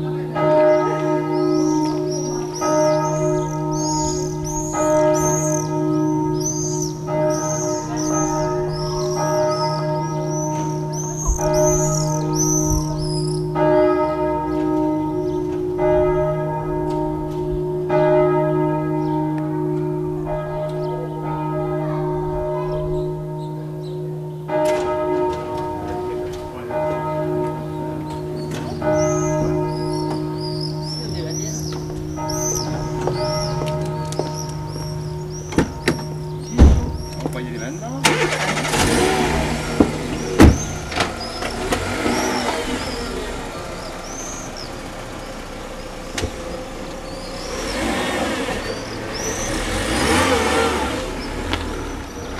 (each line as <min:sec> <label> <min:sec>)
0:00.0 bells after the Mass 0:52.3